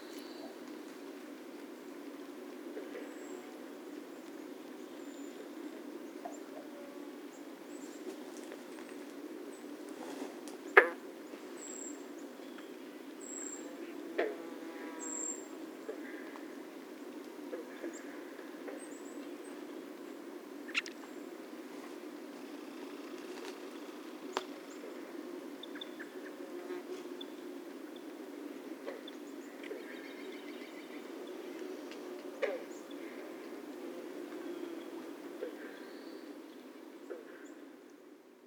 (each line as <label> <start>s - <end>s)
Frogs interject 20.7s - 21.0s